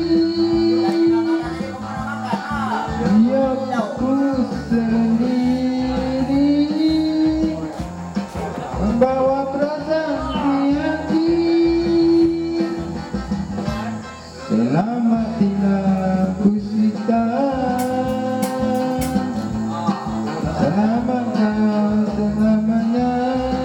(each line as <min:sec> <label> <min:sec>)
0:00.0 kareoke a gogo 0:09.5